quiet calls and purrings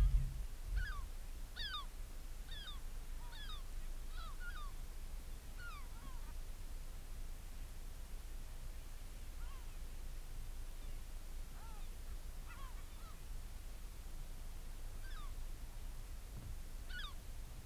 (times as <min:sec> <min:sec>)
0:00.0 0:01.0